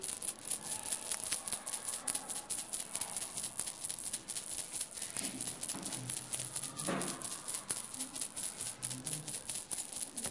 keys 0.0 - 10.3

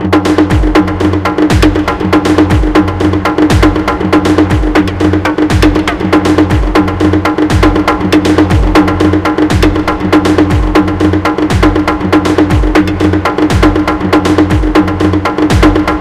bass 0.0 - 16.0
bongo 0.0 - 16.0
conga 0.0 - 16.0

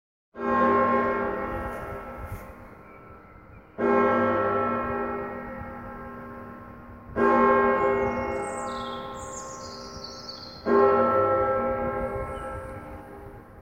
Bells Bong 0.4 - 13.4
birdsong 1.6 - 4.3
birdsong 7.6 - 10.9
birdsong 12.0 - 13.4

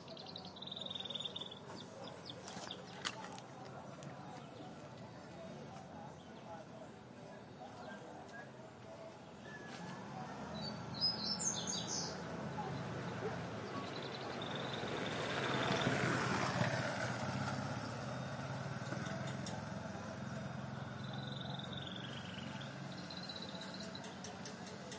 Birds sing 0.0 - 24.9
wind 0.0 - 24.9
Cars 8.0 - 24.9

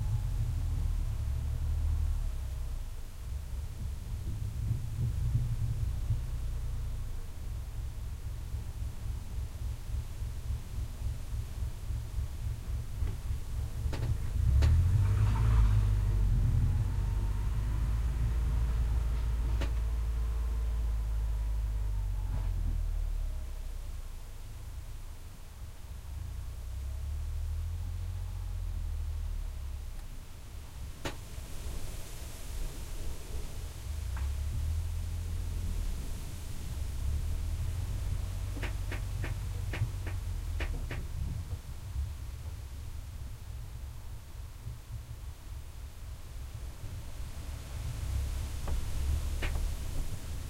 swoosh of the grass and wind 0.0 - 22.8
swoosh of the grass and wind 29.7 - 50.4

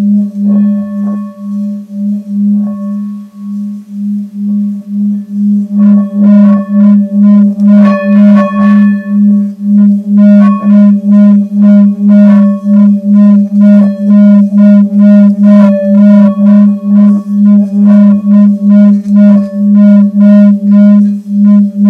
hit and stroke of a Tibetan bell 0.0 - 21.8

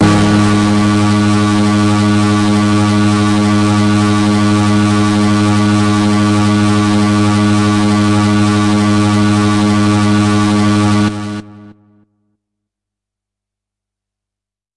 hard, harsh lead sound 0.0 - 11.8

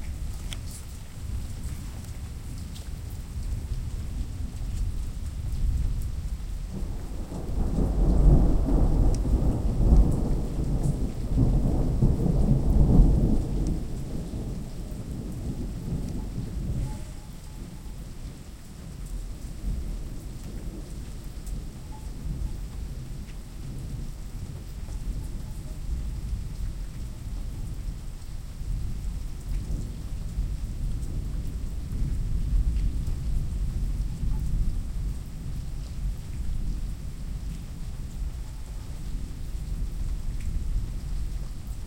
Gentle rain 0.0 - 41.8
non-stop thunders 6.7 - 17.0

